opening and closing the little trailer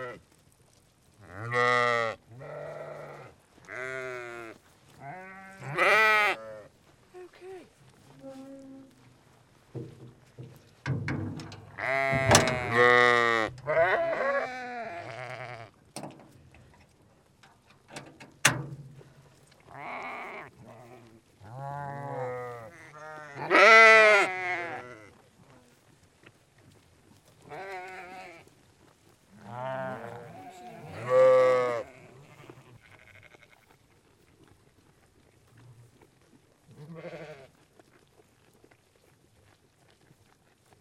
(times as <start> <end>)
9.8 13.7, 16.0 16.4, 17.8 19.0